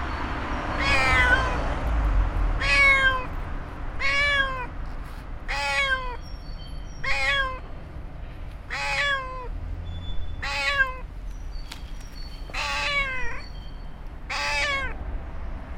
huge trees full of birds 0:11.2 - 0:14.2

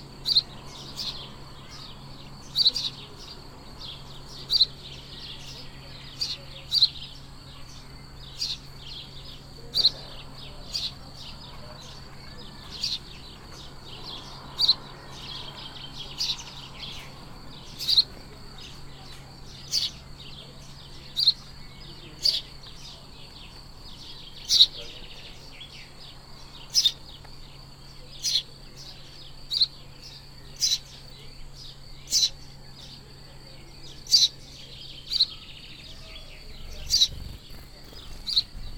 frogs 0:00.0 - 0:38.7
sparrows 0:00.0 - 0:38.7
locusts 0:36.6 - 0:38.7

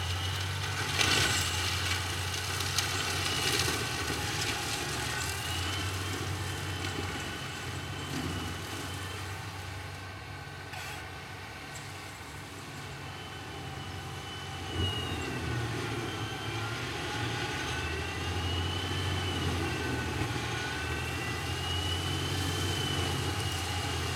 deforestation 0:00.0 - 0:24.1

